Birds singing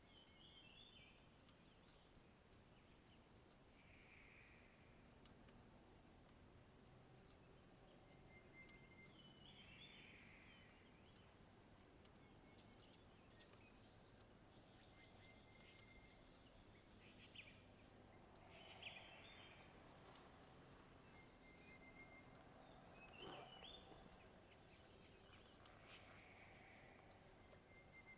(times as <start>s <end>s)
7.4s 28.1s